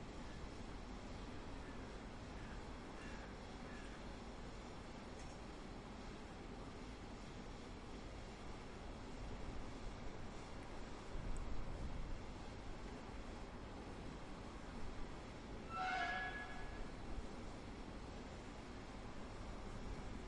train arriving 0:15.6 - 0:17.1

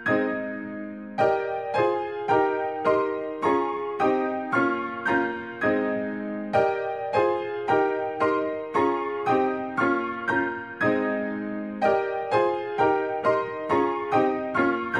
Piano 0:00.0 - 0:14.9

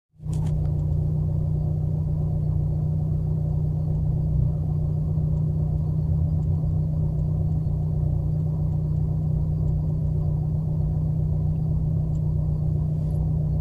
space drone fragment 0:00.4 - 0:13.6

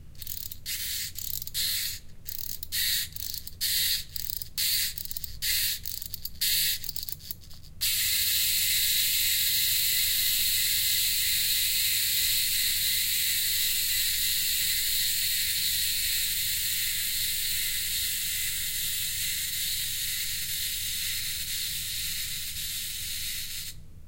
cooling fans 0:00.0 - 0:24.0

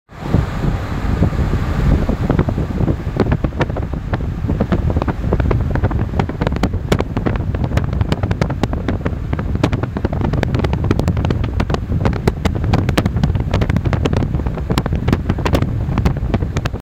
wind 0:00.0 - 0:16.8

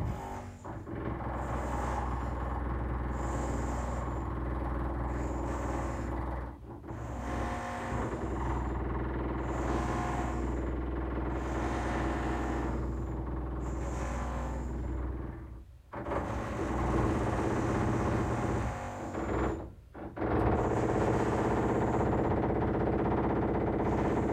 Concrete drilling 0:00.0 - 0:24.3

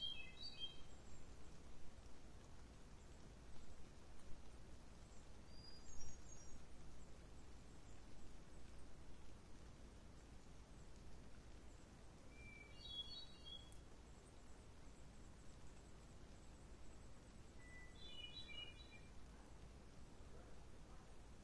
bird song 0:00.0 - 0:01.6
light rain 0:00.0 - 0:21.4
wind 0:00.0 - 0:21.4
bird song 0:05.0 - 0:08.7
bird song 0:11.7 - 0:19.6

